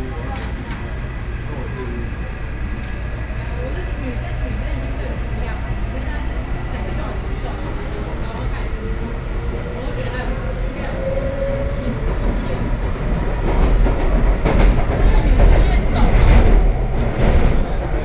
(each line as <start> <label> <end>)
0.0 in the MRT train 18.0